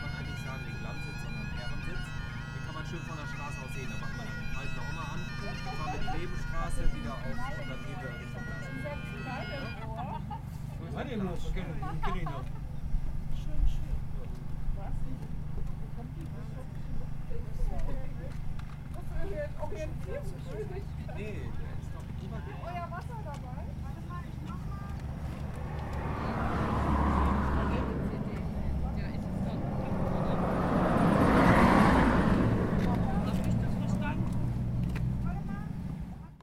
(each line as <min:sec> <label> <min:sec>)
0:00.0 bagpiper playing 0:10.0
0:00.0 Windy hilltop 0:36.3
0:00.0 bikers discuss places 0:36.4
0:24.0 bagpiper playing 0:34.6